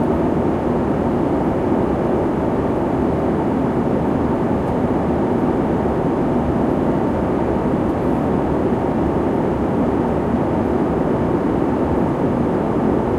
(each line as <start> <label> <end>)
0.0 737 Plane Flight 13.1